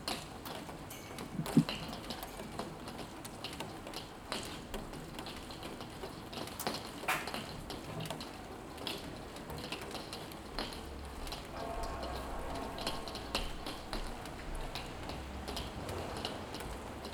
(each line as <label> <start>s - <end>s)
Morning rain 0.0s - 17.1s